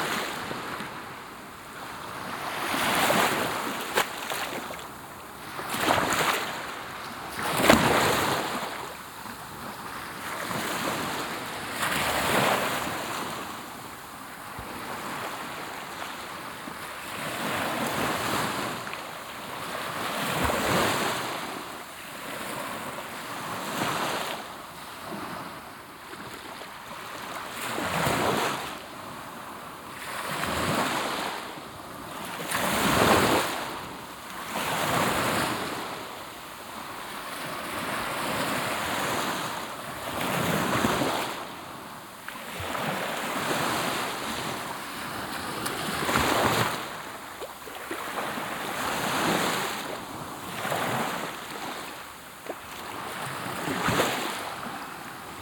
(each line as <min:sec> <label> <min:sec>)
0:00.0 Waves, really close 0:55.4